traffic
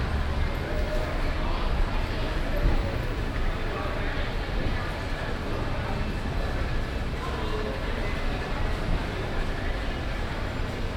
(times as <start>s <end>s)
0.0s 4.8s